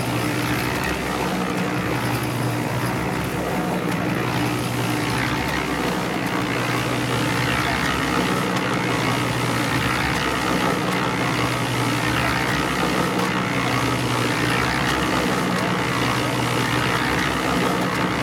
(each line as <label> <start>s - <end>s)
Concrete Mixer 0.0s - 18.2s